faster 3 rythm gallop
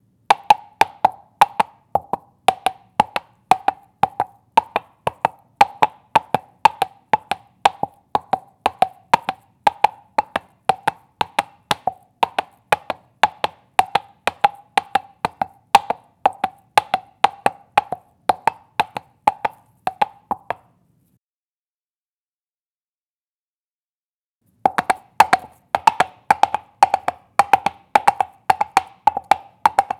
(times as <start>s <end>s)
24.7s 29.9s